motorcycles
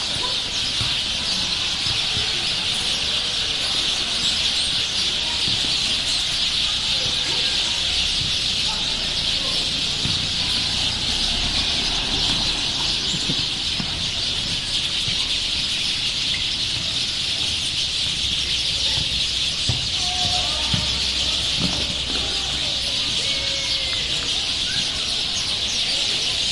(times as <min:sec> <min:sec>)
0:00.0 0:18.2